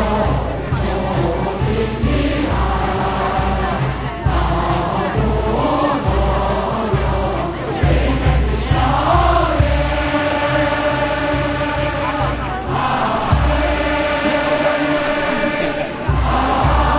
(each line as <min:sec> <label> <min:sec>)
0:00.0 Chinese percussion group 0:16.9
0:00.0 Old folks singing to their hearts' content 0:16.9